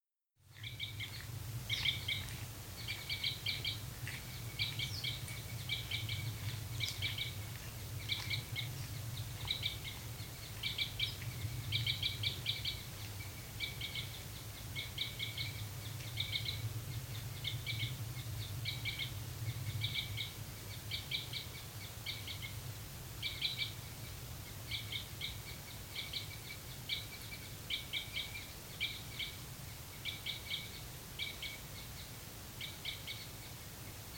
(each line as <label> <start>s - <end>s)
bird songs 0.5s - 22.6s
bird songs 23.2s - 34.1s